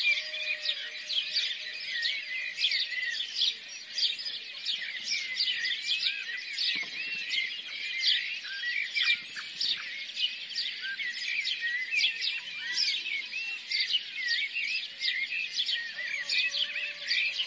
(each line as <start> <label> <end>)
0.0 Rooster 1.7
0.0 House Sparrows chirping 17.4
0.0 Peacock 17.4
15.9 Rooster 17.4